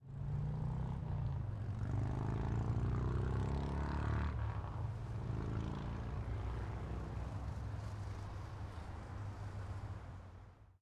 0.1s motorcycle passing by 9.8s
4.1s freeway traffic 10.7s

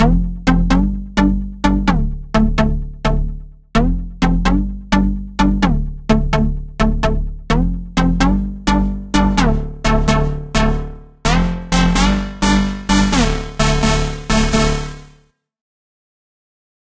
0.0s Dirty Lead Synth 15.2s

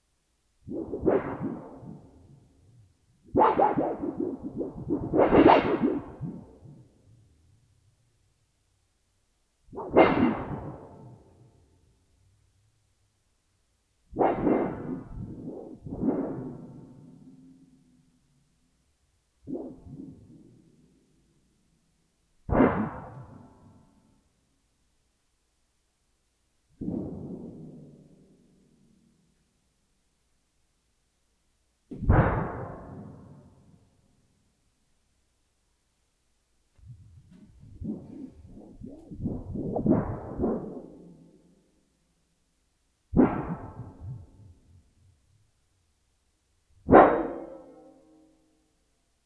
36.8s sheet metal sounds 41.0s
46.9s sheet metal sounds 48.2s

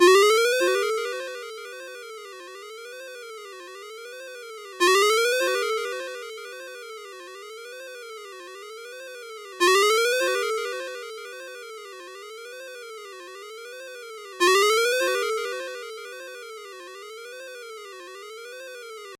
14.4s ringtone 16.9s

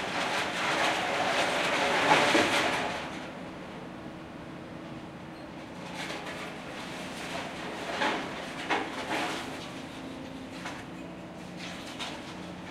0.0s huge excavators working on demolition 12.7s

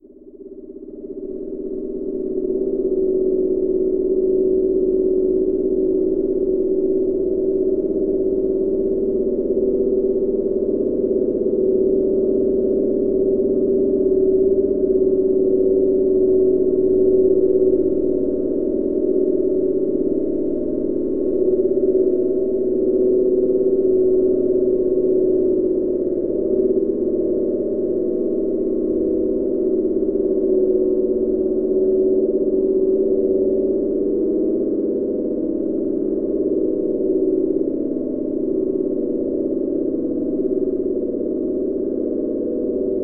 0.0s hum 43.0s

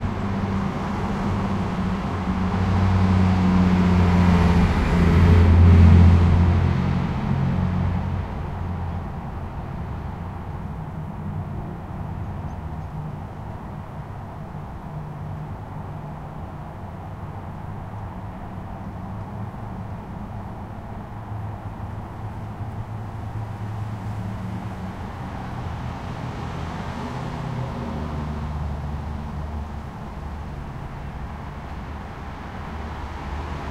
0.0s loud trucks 15.0s
0.0s cars 33.7s
8.8s soft local birds 21.0s

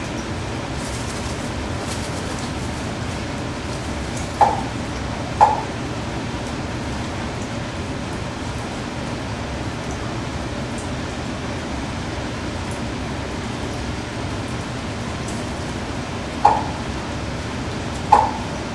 0.6s wingflaps 4.6s

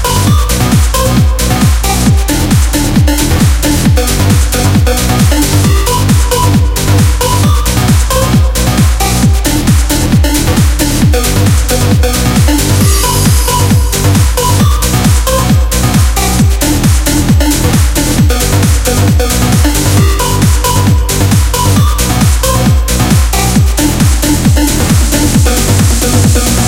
0.0s modern sounding dance music 26.6s

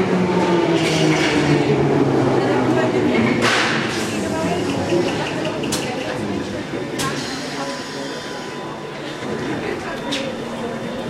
0.0s Train arriving and departing 11.0s
1.4s in-train announcements 11.0s
1.6s people 11.0s

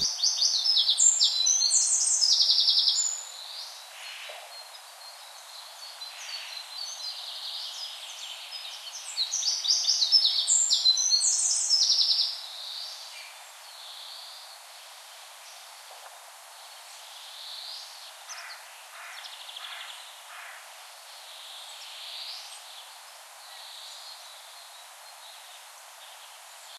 0.0s birds 26.7s
0.0s wind 26.7s
12.4s Walk through the woods 20.9s

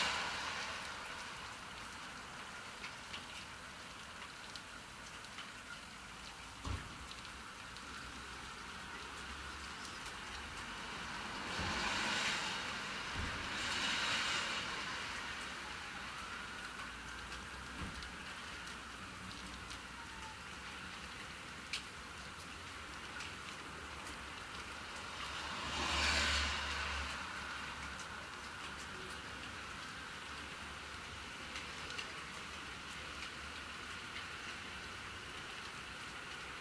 0.0s rain 36.6s

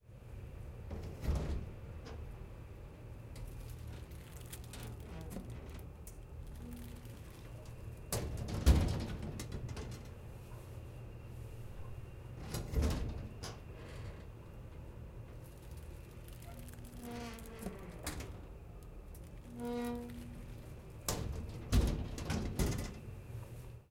21.1s Cabinet Door Open/Close 23.0s

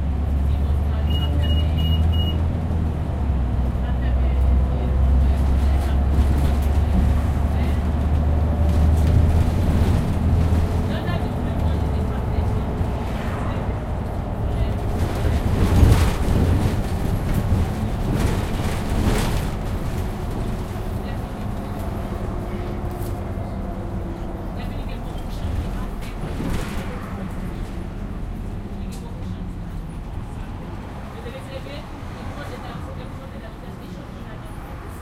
0.4s fragments of conversation in an african language 19.0s
19.8s fragments of conversation in an african language 35.0s

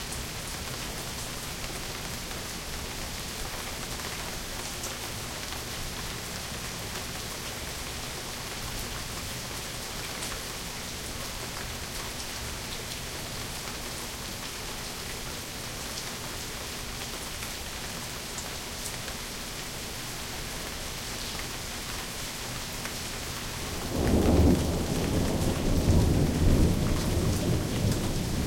0.0s Rain 28.4s
23.7s thunder 28.4s

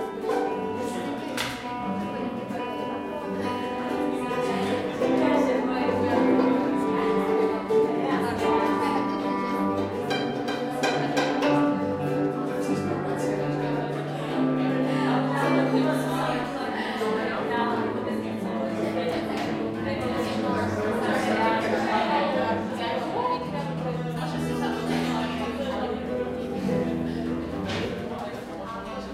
0.0s cajon 16.5s
0.0s guitar 29.1s
0.0s talk 29.1s
17.8s cajon 29.1s

